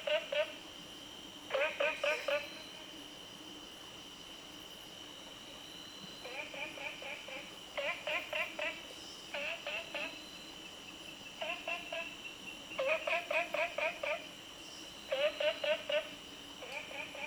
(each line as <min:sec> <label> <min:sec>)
0:00.0 Frog Sound 0:00.6
0:01.5 Frog Sound 0:02.8
0:06.2 Frog Sound 0:10.2
0:11.4 Frog Sound 0:12.2
0:12.8 Frog Sound 0:14.4
0:15.1 Frog Sound 0:17.2